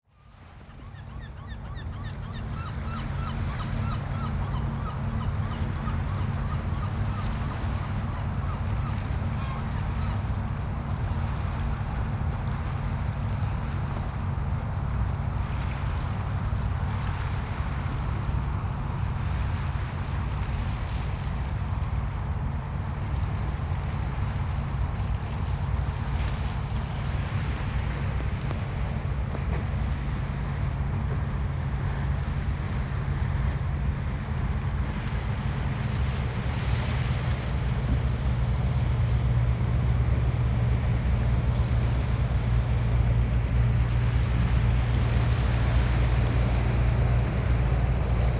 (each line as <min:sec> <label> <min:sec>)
0:00.1 passing pilot boat 0:48.3
0:02.5 waves on stony shore 0:48.3